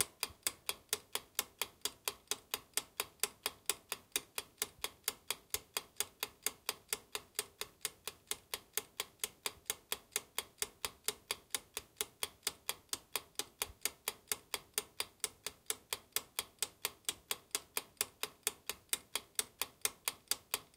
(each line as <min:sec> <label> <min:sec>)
0:00.0 Ticking timer 0:20.7